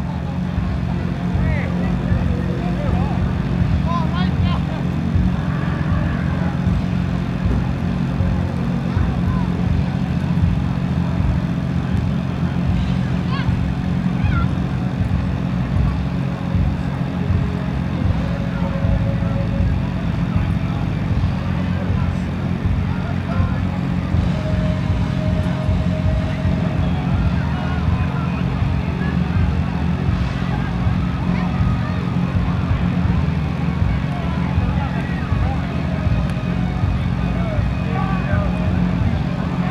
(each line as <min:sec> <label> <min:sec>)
0:00.0 generator 0:39.7
0:00.0 street party 0:39.7